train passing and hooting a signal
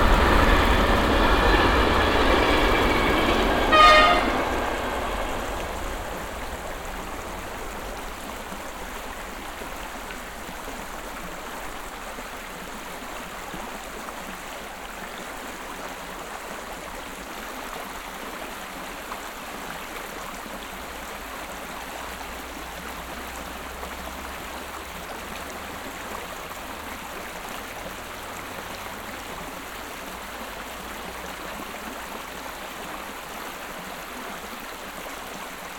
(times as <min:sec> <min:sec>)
0:00.0 0:11.2